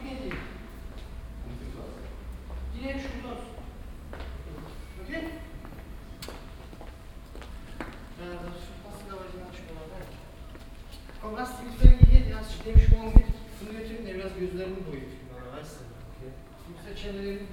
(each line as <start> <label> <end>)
11.2 männerkonversationen 17.5